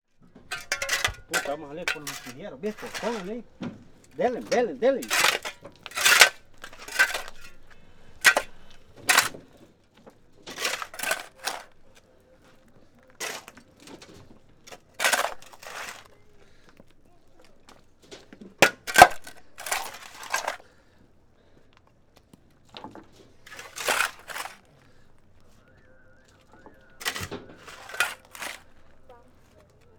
person digs with a shovel 0:00.5 - 0:09.5
person digs with a shovel 0:10.5 - 0:11.8
person digs with a shovel 0:13.2 - 0:13.6
person digs with a shovel 0:14.7 - 0:16.2
person digs with a shovel 0:18.6 - 0:20.7
person digs with a shovel 0:23.5 - 0:24.7
person digs with a shovel 0:27.0 - 0:29.0

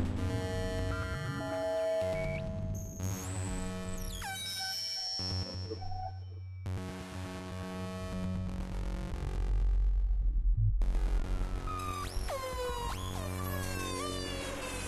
synthesizer 0:11.6 - 0:14.8

